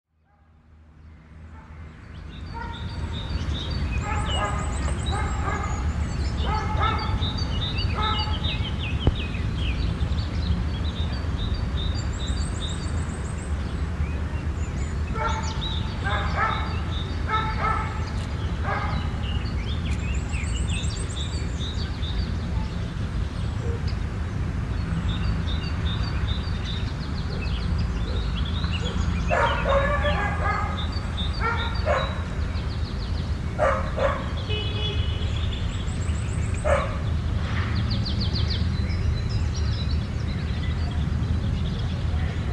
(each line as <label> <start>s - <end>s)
birds singing in background 0.1s - 42.5s
cars 0.3s - 42.5s
dogs are barking 2.5s - 2.9s
dogs are barking 3.9s - 8.5s
dogs are barking 15.1s - 19.2s
dogs are barking 27.3s - 32.4s
dogs are barking 33.5s - 34.5s
dogs are barking 36.6s - 37.1s